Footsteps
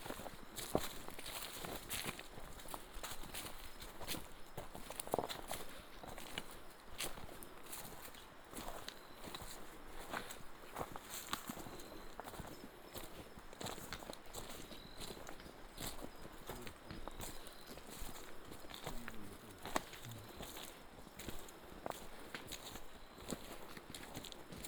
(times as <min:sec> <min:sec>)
0:15.2 0:24.4